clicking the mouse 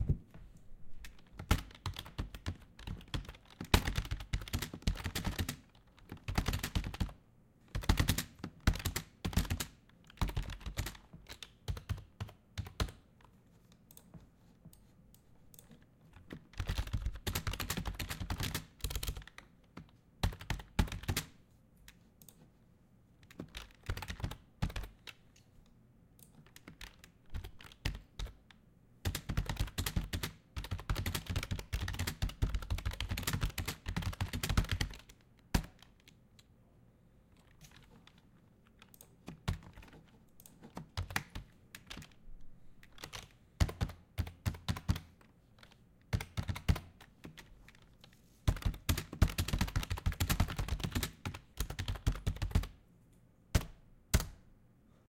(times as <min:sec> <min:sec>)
0:21.9 0:22.5